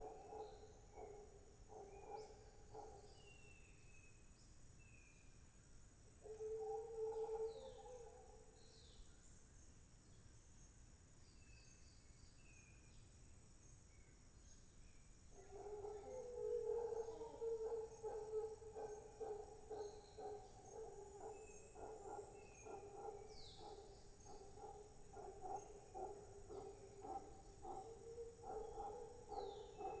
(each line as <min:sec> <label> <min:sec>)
0:15.4 birds 0:30.0
0:15.4 howler monkeys 0:30.0